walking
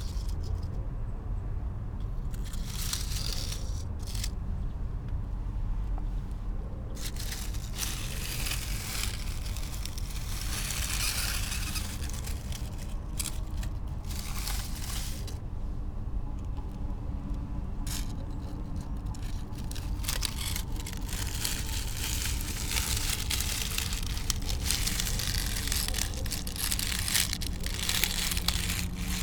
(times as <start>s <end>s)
7.0s 15.4s, 17.9s 29.2s